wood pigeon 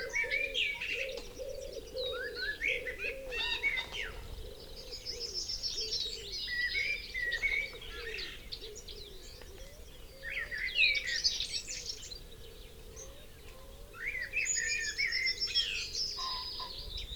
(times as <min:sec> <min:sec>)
0:00.0 0:06.3